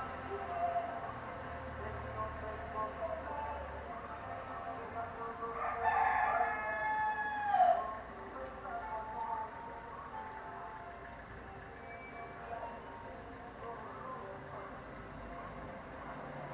0.0s chichens in a close courtyard 16.5s
0.0s van with music passing by 16.5s

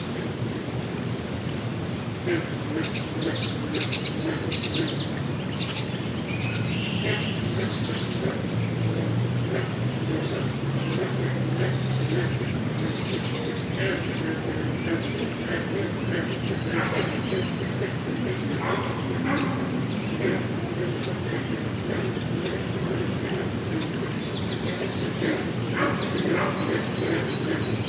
0.0s creek 27.8s
0.0s green frogs (Rana clamitans) 27.8s
14.9s dogs 24.0s
24.6s dogs 27.8s

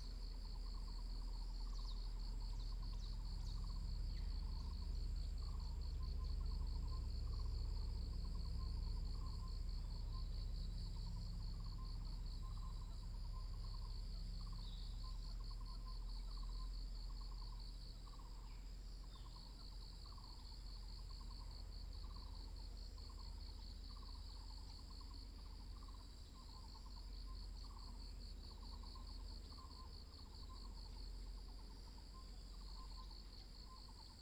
0.0s Insects sounds 34.2s

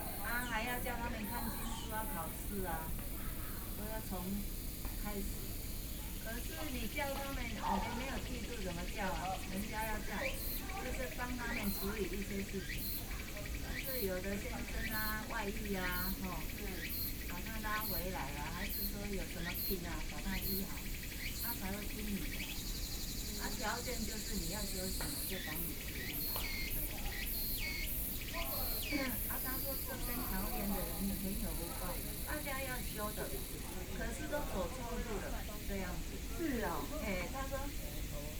0.0s Birds 38.3s
0.0s Two women are sharing religion 38.3s

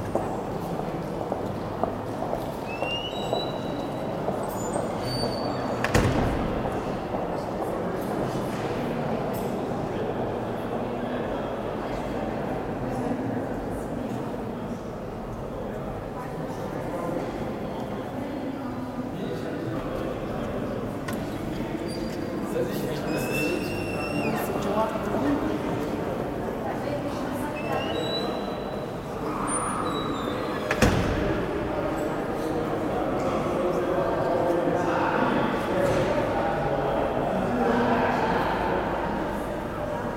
2.6s sqeaking doors 6.6s

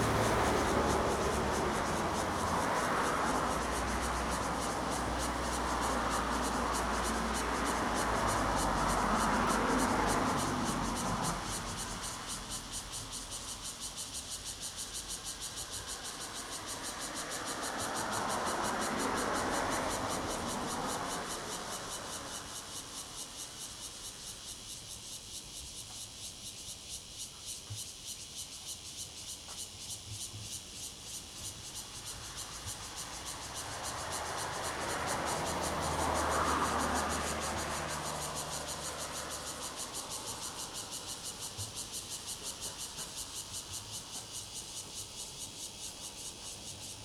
0.0s Traffic Sound 26.0s
0.0s Cicadas 47.0s
29.2s Traffic Sound 47.0s

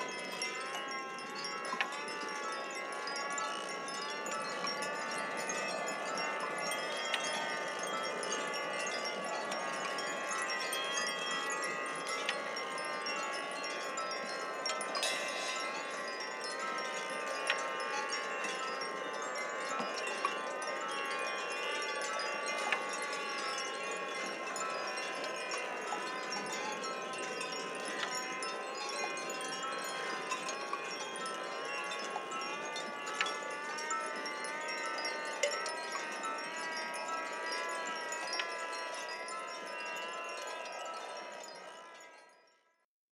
14.6s Aeolian instruments 41.1s

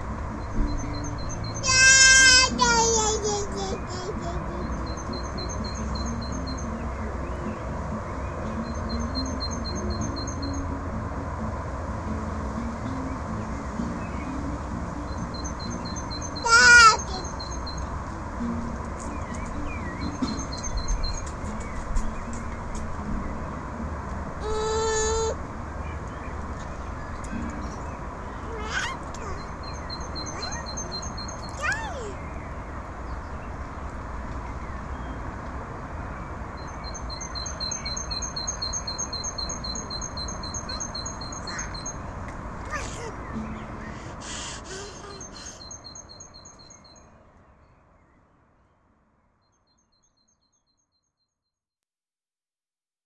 1.6s kid singing 4.8s
12.5s birds 51.2s
16.4s kid singing 17.3s
24.4s kid singing 25.4s
31.6s kid singing 32.2s
42.7s kid singing 43.2s

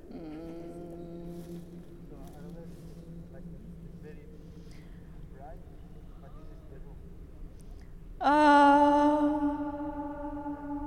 0.0s vocalises 2.7s
0.5s conversation and speaking voices 8.2s

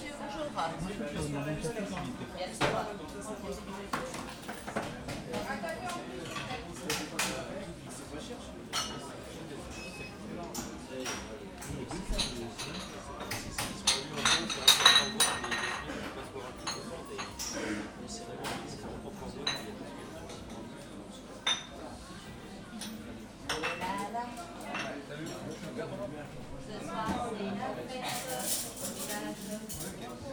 0.0s People speak softly 30.3s

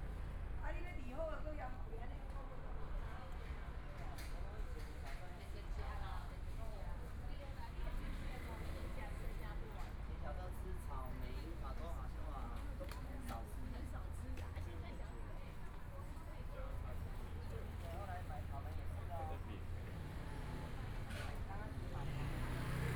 0.0s Walking in the small streets 22.9s

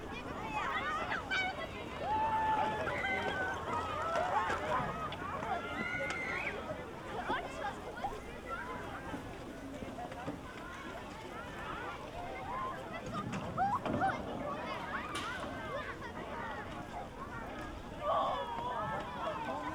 0.0s kids and parents riding sledges 19.7s

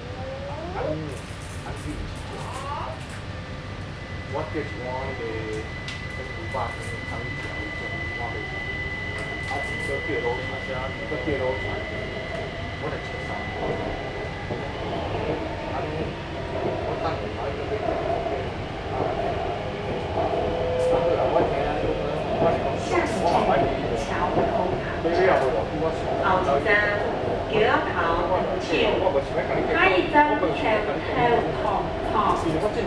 0.0s Mother and child 1.2s
0.0s Inside the MRT 32.8s
2.4s Mother and child 3.1s

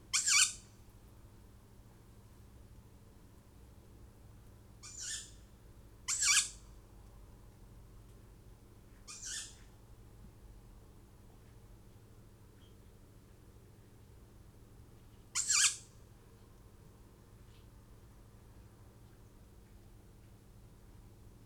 0.1s tawny owl fledglings 0.6s
4.8s tawny owl fledglings 5.4s
6.1s tawny owl fledglings 6.6s
9.1s tawny owl fledglings 9.6s
15.4s tawny owl fledglings 15.9s

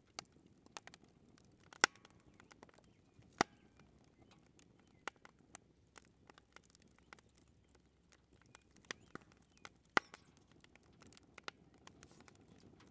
0.0s camp fire 12.9s

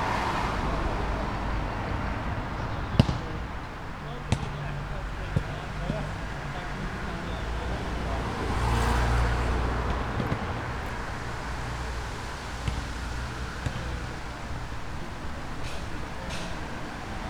0.0s group talking nearby 17.2s
0.0s men playing basketball 17.2s

